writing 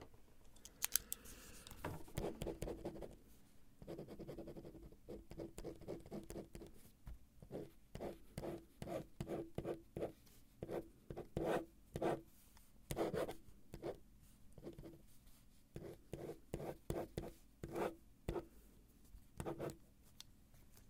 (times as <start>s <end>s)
2.1s 3.2s, 3.8s 6.8s, 7.4s 12.2s, 12.9s 14.0s, 14.6s 15.1s, 15.7s 18.5s, 19.4s 19.8s